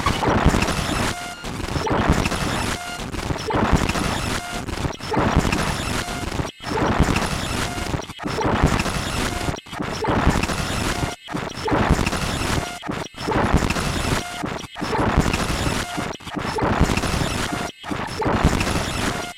rhythmic bright burble n glitch 0:00.0 - 0:19.3

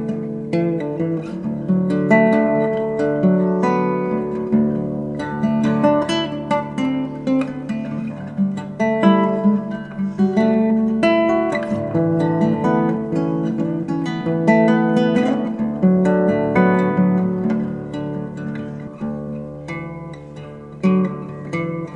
nylon string guitar played in DADDAB tuning 0:00.0 - 0:21.9

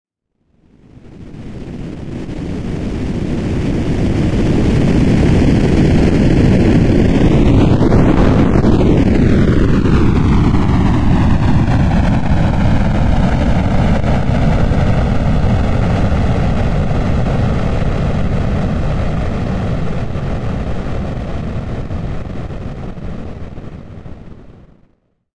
rocket or Jet fly by 0:00.9 - 0:24.8

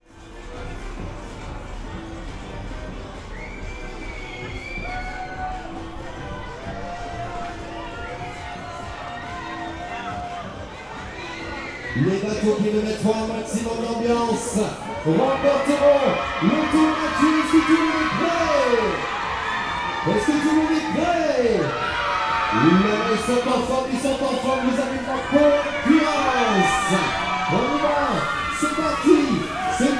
Kids and teen-agers enjoying a fairground ride 0:00.1 - 0:14.9
Kids and teen-agers enjoying a fairground ride 0:27.8 - 0:29.9

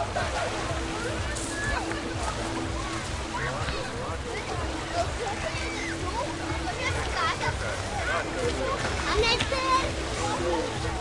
distant music from the beach bar 0:00.0 - 0:11.0
kids playing 0:00.0 - 0:11.0
sea rumbling 0:00.0 - 0:11.0

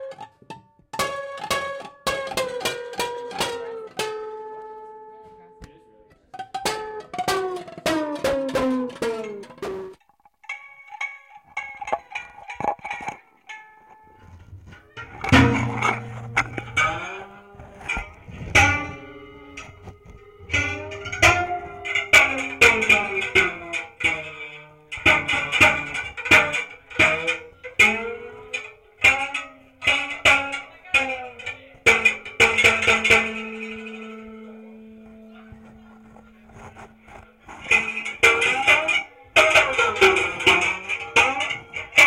Constant Strum of Intonarumori 0:00.0 - 0:42.0

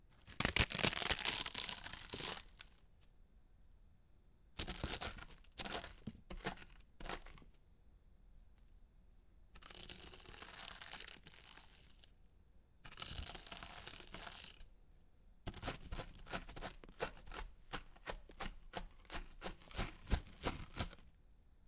Tortilla chips being crunched 0:00.3 - 0:02.7

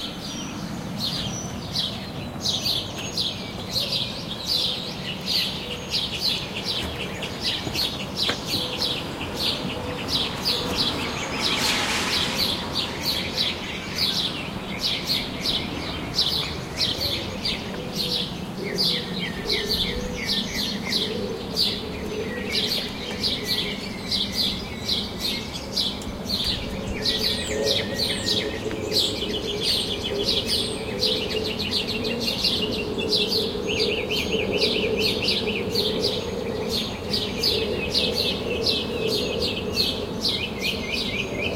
birds 0:00.0 - 0:41.5
car drives by in the distance, splashing through a puddle 0:11.0 - 0:13.5

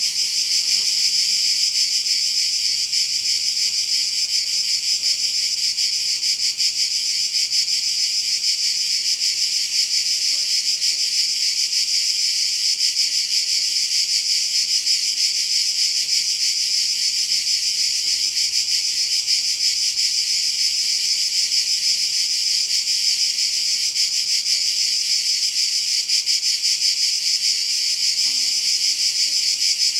cicadas 0:00.0 - 0:29.9
crickets 0:00.0 - 0:29.9
flying insects buzz close to the microphones 0:00.0 - 0:29.9

